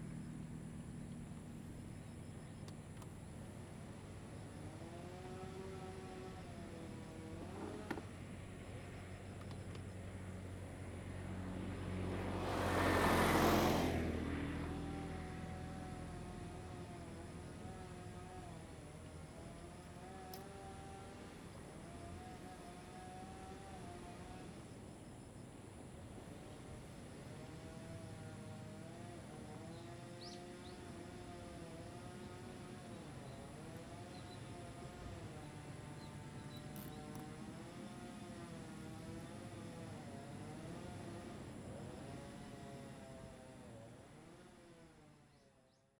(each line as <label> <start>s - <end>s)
Traffic Sound 11.1s - 18.8s